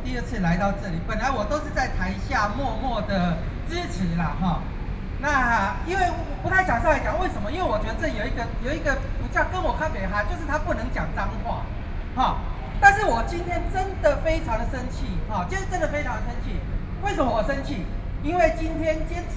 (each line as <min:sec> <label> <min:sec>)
0:00.0 speech 0:19.3